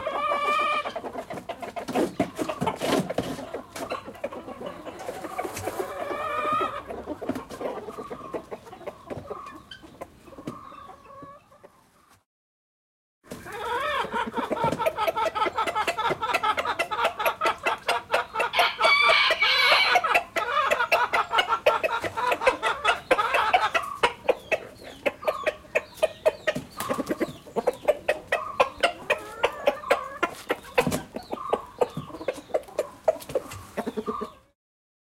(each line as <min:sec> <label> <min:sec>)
0:00.0 Chicken 0:12.2
0:13.3 Chicken 0:34.6